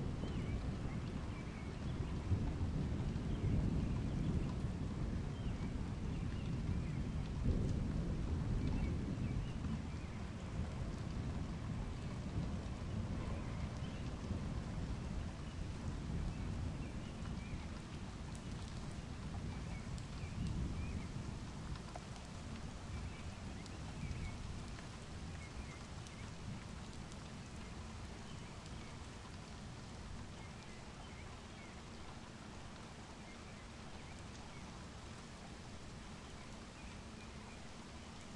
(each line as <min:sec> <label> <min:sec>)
0:00.0 unusually quiet rolling thunder 0:17.7
0:18.4 unusually quiet rolling thunder 0:21.8